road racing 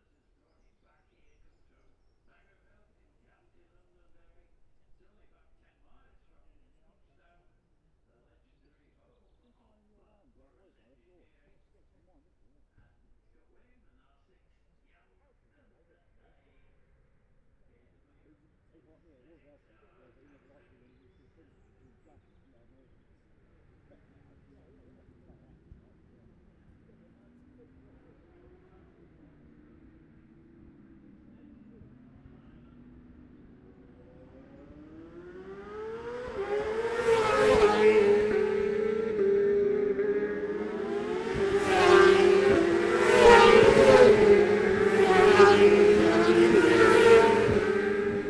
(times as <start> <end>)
21.6 48.2